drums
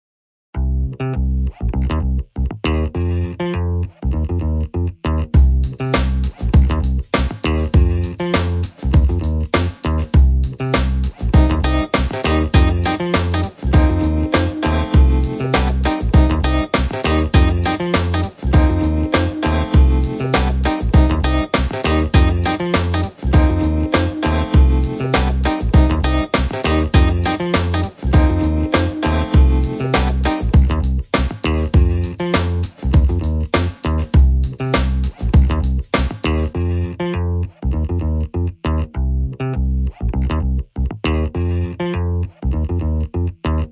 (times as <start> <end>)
5.4 36.5